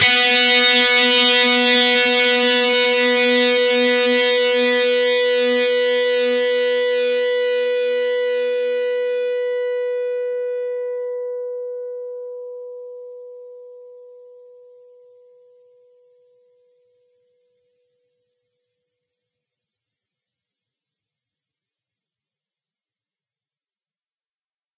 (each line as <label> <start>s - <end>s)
distorted guitar 0.0s - 11.2s